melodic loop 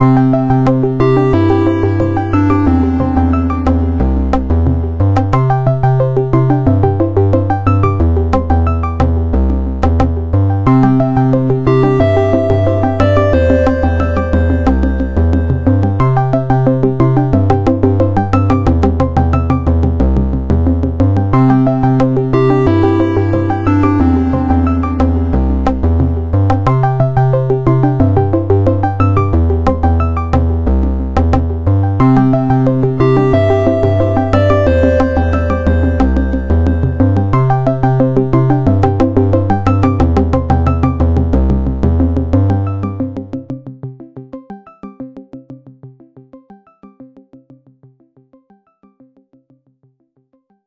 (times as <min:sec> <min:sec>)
0:00.0 0:08.9, 0:10.7 0:19.5, 0:21.3 0:30.2, 0:32.0 0:41.1